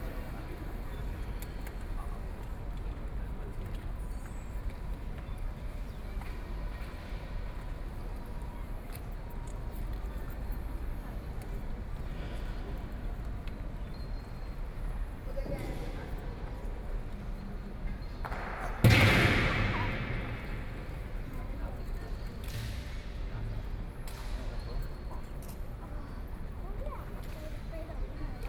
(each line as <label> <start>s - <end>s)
Tourists 10.9s - 22.5s